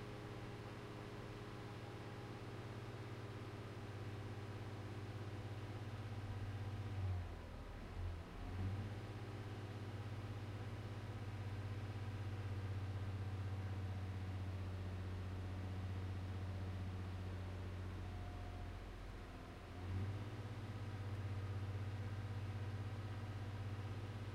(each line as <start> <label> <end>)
5.6 V6 engine 24.3